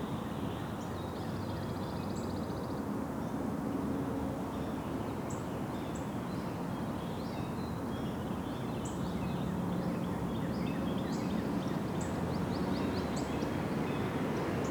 10.1s golf carts traveling around the bend 14.7s
10.8s cars 14.7s

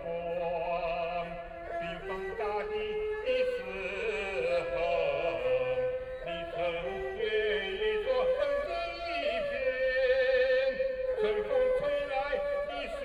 0.0s A middle-aged are singing 13.0s

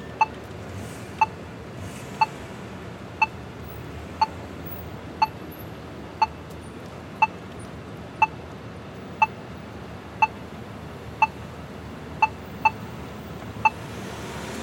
0.0s Audible crosswalk signal 1.6s
2.2s Audible crosswalk signal 2.4s
3.0s Audible crosswalk signal 14.6s

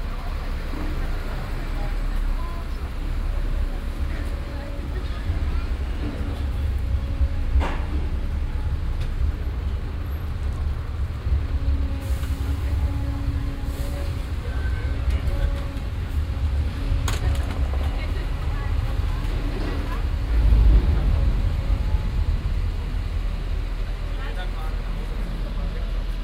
11.1s martinshorn 18.0s

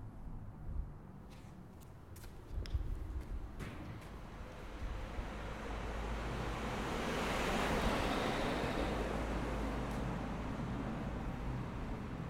3.4s Cars passing over speed bumps 12.2s
4.1s Passing cars 12.2s
4.8s Passing motorbike 12.2s

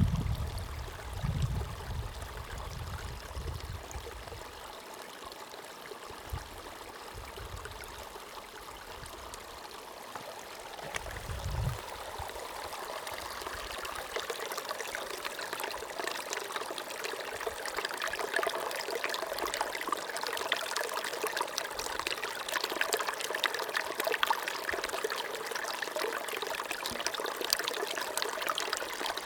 0.0s wind noise 4.2s
0.0s Following stream downhill 29.2s
11.0s wind noise 12.4s

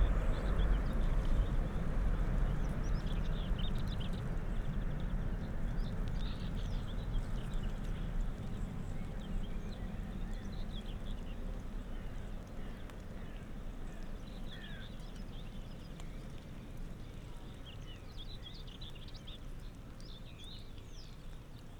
0.0s high speed train passes in the distance 4.7s
0.0s light rain 21.7s

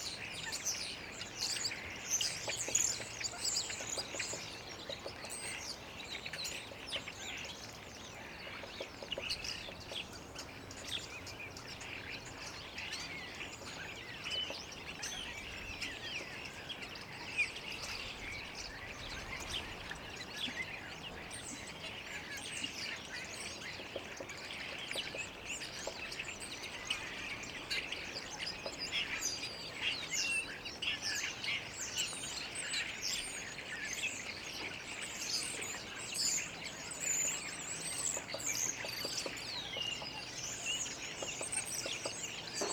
0.0s starlings 42.7s
0.0s woodpecker 42.7s

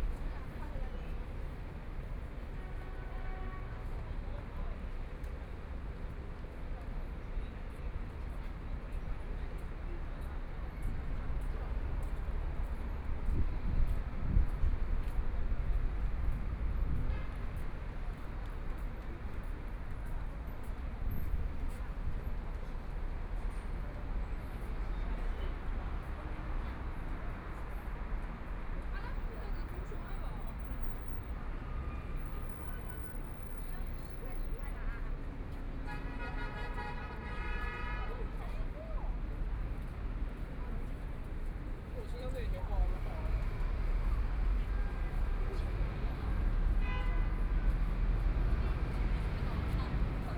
0.0s Traffic Sound 50.3s
32.0s The pedestrian 50.3s

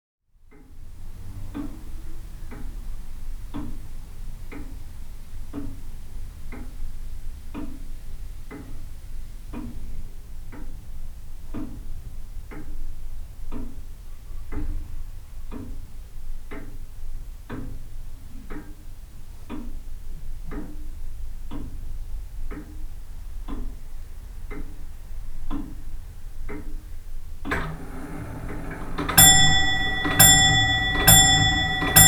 27.5s grandfather clock strikes 32.0s

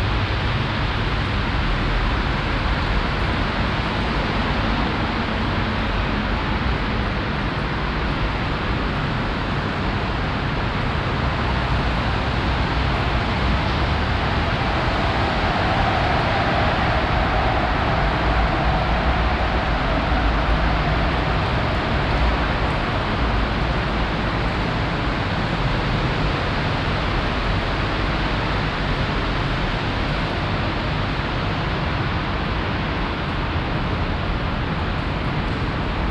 0.0s traffic from the nearby highway 36.1s

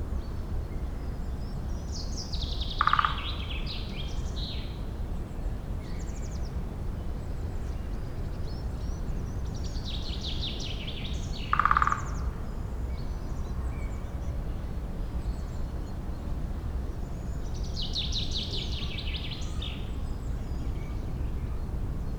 2.6s woodpecker drummed above me 4.0s
11.4s woodpecker drummed above me 12.5s

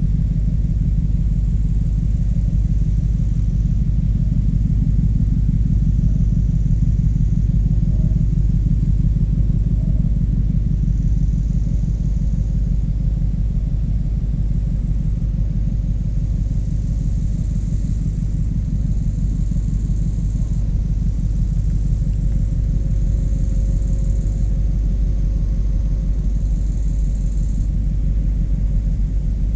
4.8s Locust singing on the high grass 29.5s

